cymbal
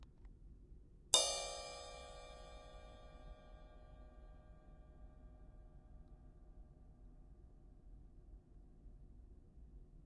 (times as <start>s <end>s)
1.2s 4.7s